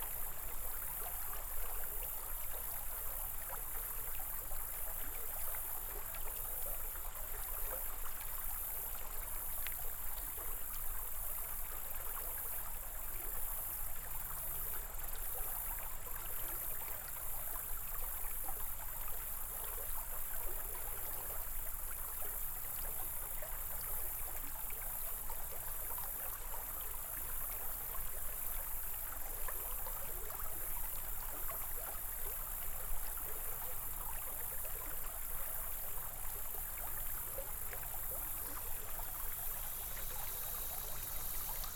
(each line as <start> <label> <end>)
0.0 Creek 41.7